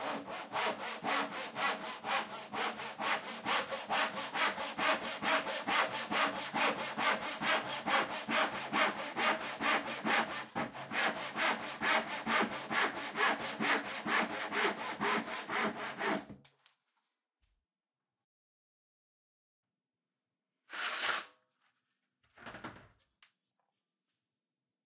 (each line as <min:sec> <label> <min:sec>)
0:00.0 block plane fine shaving the edge of the timber 0:16.2
0:00.0 crosscut tenon saw cutting across the grain 0:16.3
0:00.0 General purpose wood saw 'ripping' along the grain 0:16.3